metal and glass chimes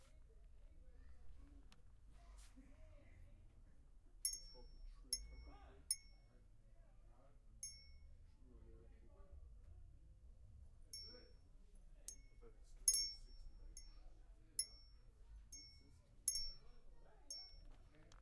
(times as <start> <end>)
4.3 6.2, 11.0 11.3, 12.1 14.0, 14.6 16.7, 17.3 17.6